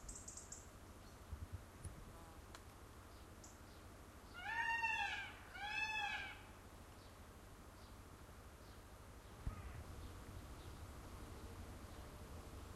0.0s small bird song 1.4s
0.0s insects buzzing by 4.4s
3.0s small bird song 4.4s
4.3s peacock calling 6.6s
4.3s distant crow 6.6s
6.9s small bird song 12.7s
9.4s distant crow 9.9s

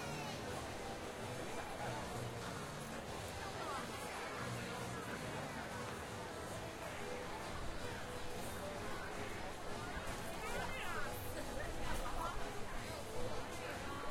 0.0s large, calm crowd casually milling about 14.1s
0.0s passersby are mentioning it in their conversation 14.1s

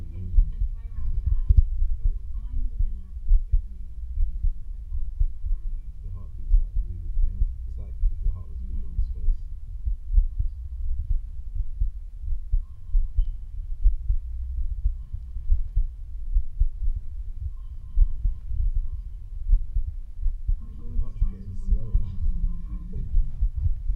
0.0s heartbeat 23.9s

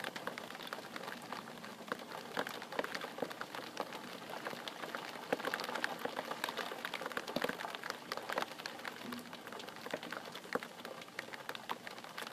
0.0s rain on window 12.3s

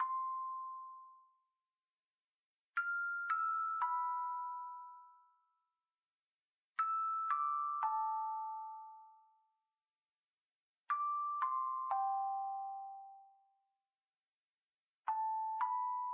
0.0s small looping bell sound 1.5s
2.8s small looping bell sound 5.8s
6.8s small looping bell sound 9.6s
10.9s small looping bell sound 13.7s
15.1s small looping bell sound 16.1s

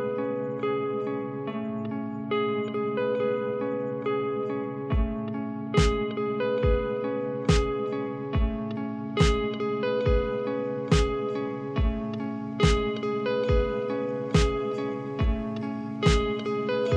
0.0s electric guitar 16.9s
4.9s drum loop 16.9s

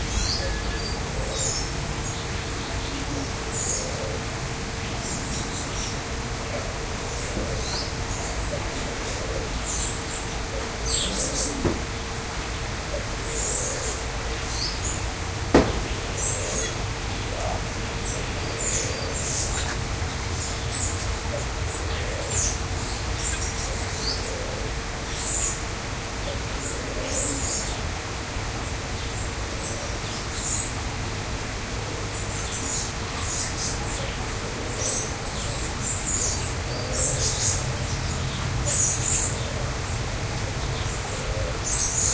0.0s several species of lorikeet 4.2s
0.0s Green Imperial-pigeon 15.1s
4.8s several species of lorikeet 11.8s
12.6s several species of lorikeet 25.6s
15.8s Green Imperial-pigeon 27.8s
26.3s Collared Imperial-pigeon 27.7s
31.9s Green Imperial-pigeon 42.1s
32.1s several species of lorikeet 42.1s

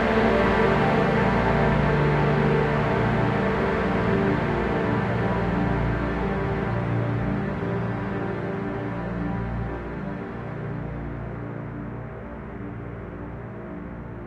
0.0s viola 10.7s
0.0s violin 11.7s
0.0s cello 14.2s

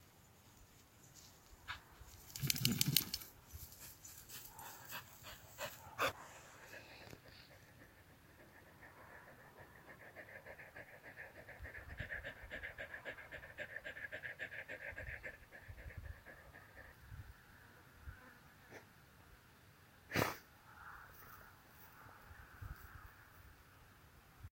2.3s Dog shakes himself 3.3s
4.4s panting 17.0s

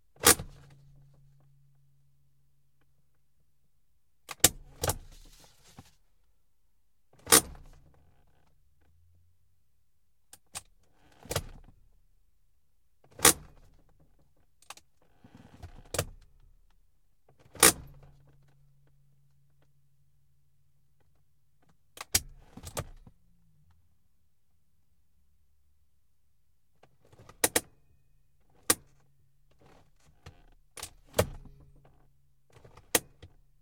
7.2s e-brake (or handbrake) being applied and released 8.0s
17.4s e-brake (or handbrake) being applied and released 18.5s
27.0s e-brake (or handbrake) being applied and released 27.7s
28.6s e-brake (or handbrake) being applied and released 33.4s

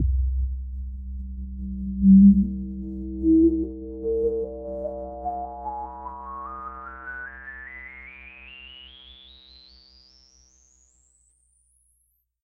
0.0s resonant filter sweeping through the the harmonics 11.2s

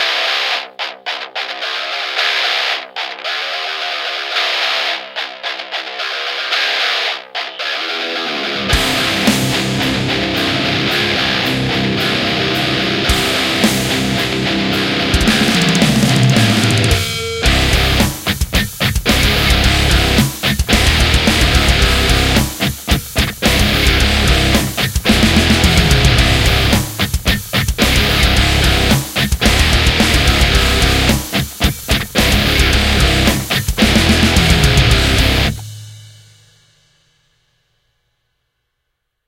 0.0s Electric Guitar 36.1s
8.2s Drums 37.9s

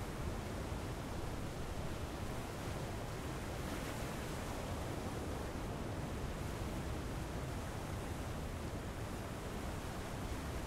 0.0s waves 10.6s

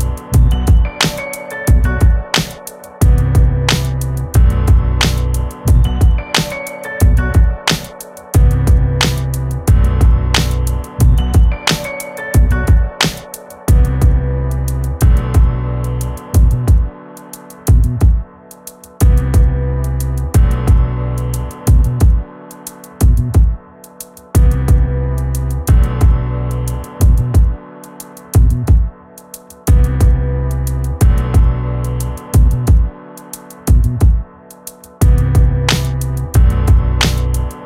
0.0s bass 7.8s
0.0s piano 37.6s
0.4s drum 14.2s
8.4s bass 17.0s
17.7s bass 18.2s
19.0s bass 22.3s
23.0s bass 23.6s
24.4s bass 27.6s
28.4s bass 28.9s
29.7s bass 33.0s
33.7s bass 34.2s
35.0s bass 37.6s

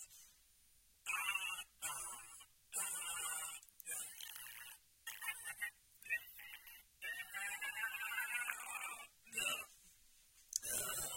7.0s grunt 9.7s
10.6s grunt 11.1s

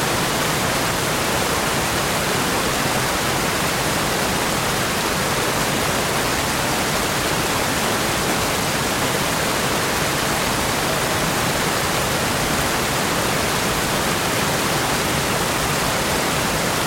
0.0s Stream Rapids 16.8s

